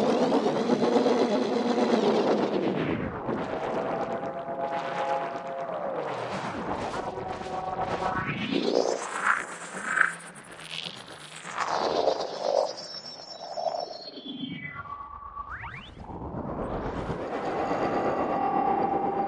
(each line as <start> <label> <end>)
0.0 drone 10.8
11.7 drone 19.2